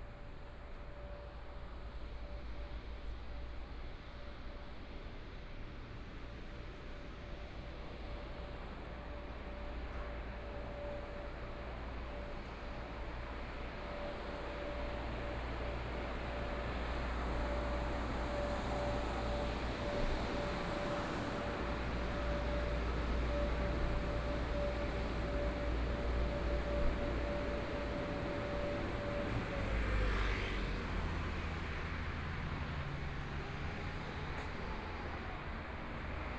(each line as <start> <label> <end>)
14.8 Traffic Sound 36.3
30.7 walking on the Road 36.3